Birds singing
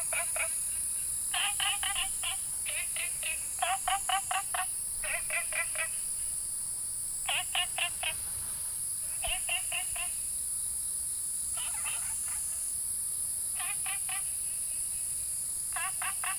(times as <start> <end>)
0.0 10.2